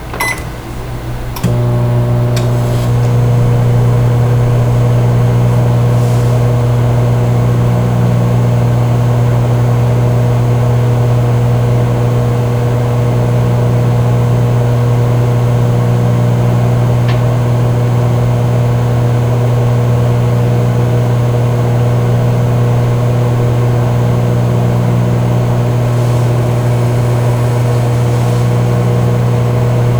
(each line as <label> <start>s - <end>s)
beeping 0.0s - 6.8s
conventional kitchen microwave 0.0s - 29.9s